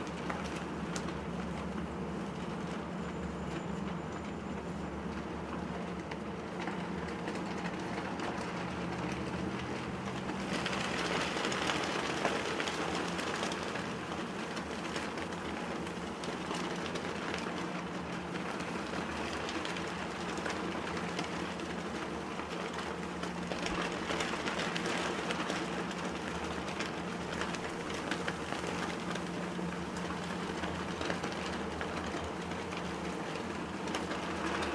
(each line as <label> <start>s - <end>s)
National flags flapping in the wind 0.0s - 34.7s